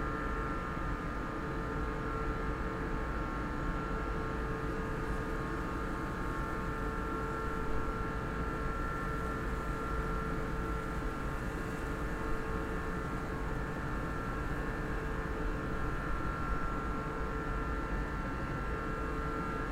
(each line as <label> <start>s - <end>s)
office building air conditioning 0.0s - 19.7s